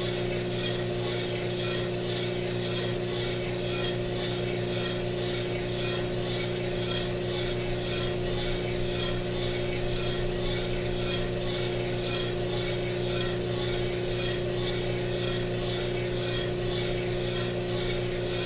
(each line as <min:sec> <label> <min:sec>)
0:00.0 fuji royal coffee roaster 0:18.4